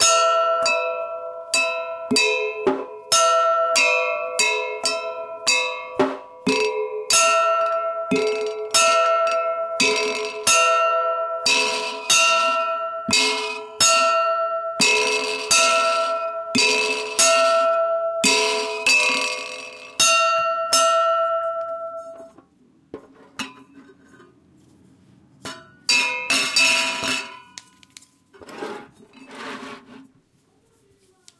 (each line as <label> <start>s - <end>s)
Bell 0.0s - 22.4s
Bell 25.6s - 27.8s